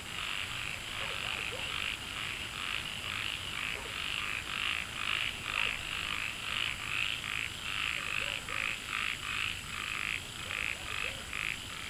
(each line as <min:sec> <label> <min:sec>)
0:01.0 Dogs barking 0:01.8
0:05.5 Dogs barking 0:05.8
0:08.0 Dogs barking 0:08.7